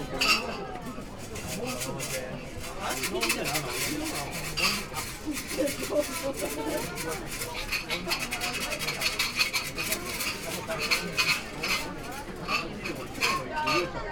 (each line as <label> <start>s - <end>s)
wooden sticks oracle 7.2s - 12.6s